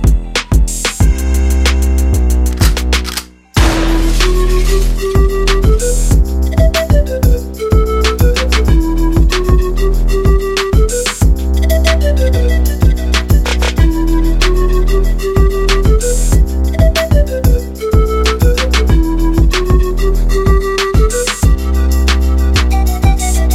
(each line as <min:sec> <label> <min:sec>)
0:03.6 intro arp sound 0:06.6
0:03.6 808ish bass 0:20.8
0:03.6 pan flute 0:23.5
0:03.6 shotgun sounds 0:05.2